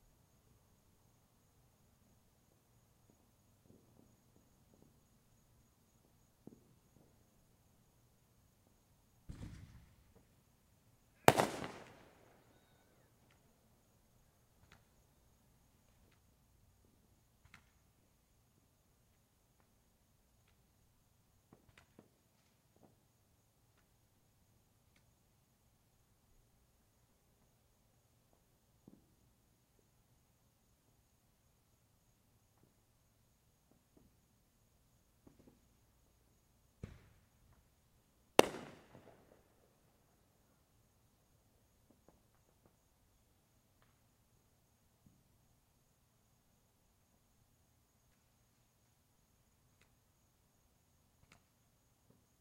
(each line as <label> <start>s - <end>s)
Fireworks 2.8s - 7.7s
Fireworks 8.6s - 13.5s
Fireworks 14.2s - 15.1s
Fireworks 17.4s - 18.1s
Fireworks 21.4s - 23.1s
Fireworks 28.2s - 29.3s
Fireworks 35.1s - 37.7s
Fireworks 38.3s - 40.6s
Fireworks 41.6s - 43.0s